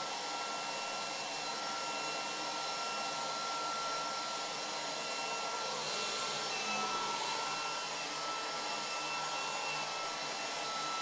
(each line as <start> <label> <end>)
0.0 hairdryer 11.0